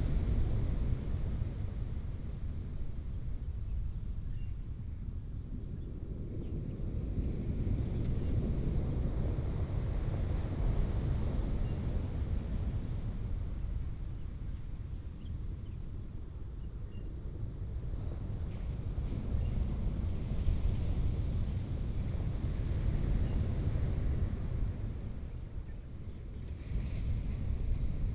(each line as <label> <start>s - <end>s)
waves 17.6s - 28.1s